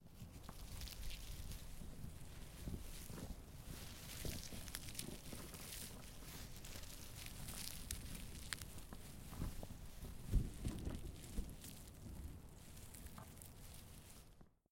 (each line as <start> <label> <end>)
0.1 movement of the leafs 14.4